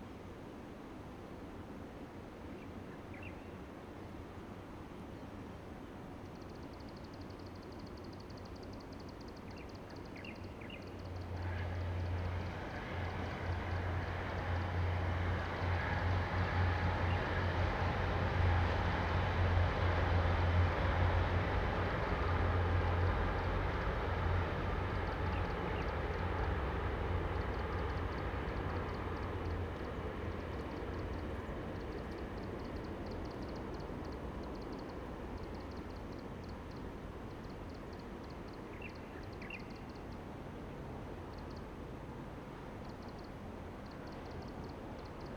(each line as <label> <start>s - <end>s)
distant train travels through 0.0s - 45.3s